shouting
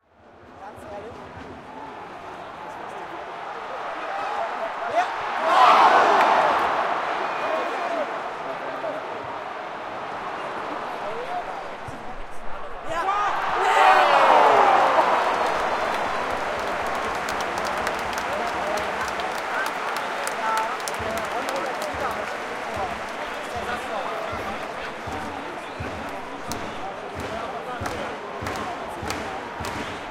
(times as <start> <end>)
3.4 8.1, 12.9 21.3